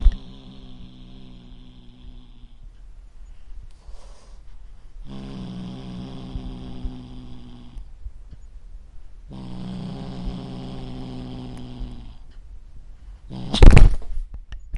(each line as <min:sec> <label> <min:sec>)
0:00.0 Kitten Growl 0:02.8
0:03.8 hiss 0:04.5
0:05.0 Kitten Growl 0:07.9
0:09.3 Kitten Growl 0:12.3
0:13.3 Kitten Growl 0:14.0
0:13.3 clawing the microphone 0:14.7